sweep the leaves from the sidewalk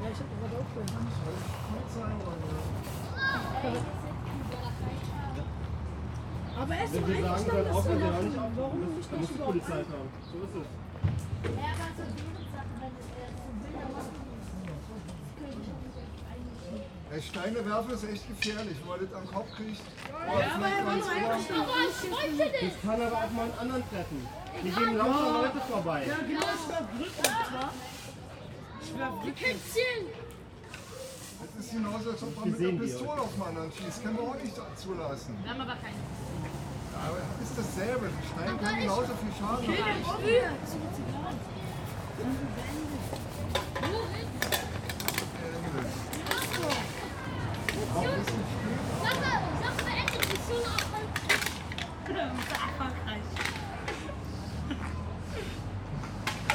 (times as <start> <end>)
0.8 5.2, 20.5 34.4, 35.6 51.6